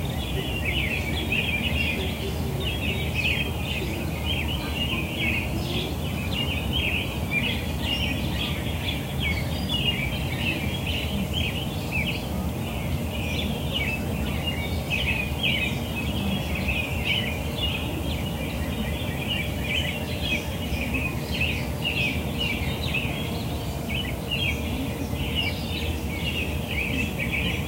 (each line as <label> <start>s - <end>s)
American robins 0.0s - 27.6s
low hum of traffic 0.0s - 27.6s
northern cardenals 0.0s - 27.6s
trains in the distance 0.0s - 27.6s